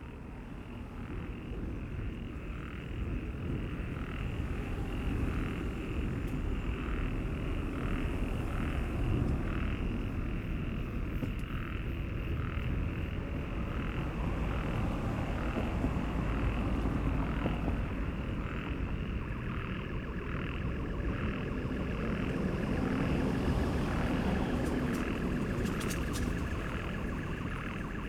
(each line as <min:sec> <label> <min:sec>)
0:00.0 Busy traffic 0:28.0
0:11.6 Frogs in a small stream are singing, discontinuously 0:28.0
0:12.4 Distant heavy construction work 0:28.0
0:17.5 alarm sounds 0:28.0